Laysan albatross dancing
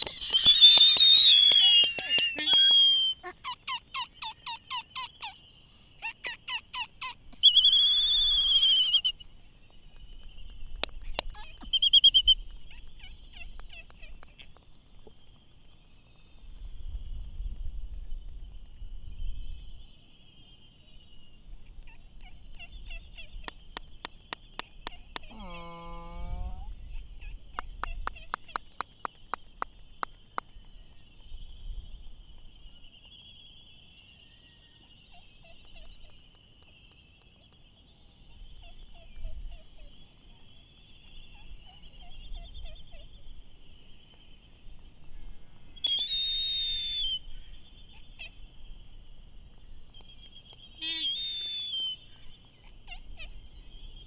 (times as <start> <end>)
0.0 5.3